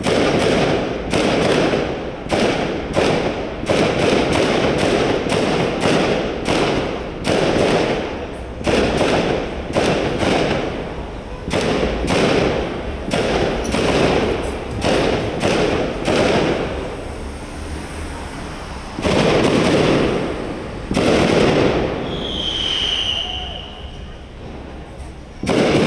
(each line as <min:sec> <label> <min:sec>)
0:00.0 car traffic 0:25.8
0:00.0 rogue fireworks 0:25.8
0:05.5 people talking 0:21.0
0:21.8 people talking 0:25.8